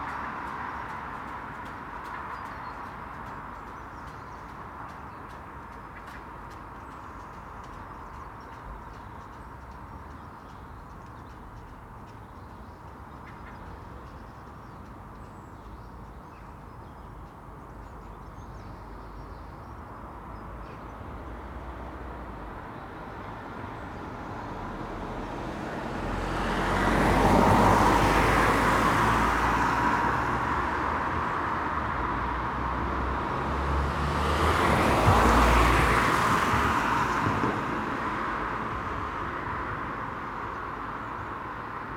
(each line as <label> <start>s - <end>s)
Six runners 0.0s - 8.7s